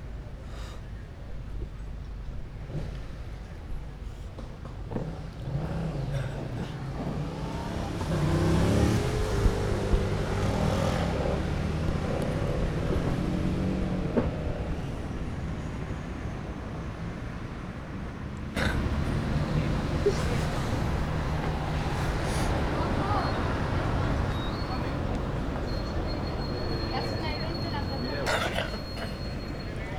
Bus 0:00.0 - 0:29.9
Cars 0:01.6 - 0:29.9
Motorbike 0:02.4 - 0:29.9
Humans 0:18.6 - 0:29.9

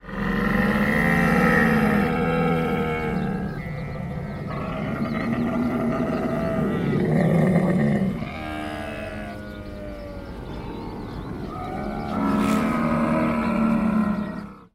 Camel groans and moans 0:00.0 - 0:14.7

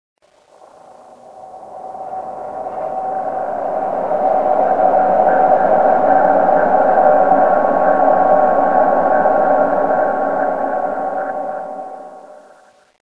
sweep 0:00.2 - 0:12.8

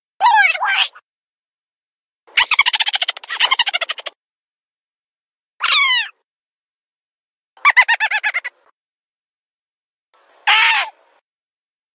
voice 0:00.2 - 0:01.0

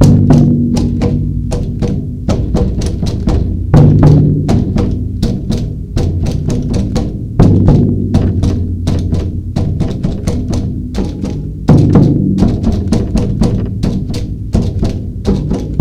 Drums 0:00.0 - 0:15.8

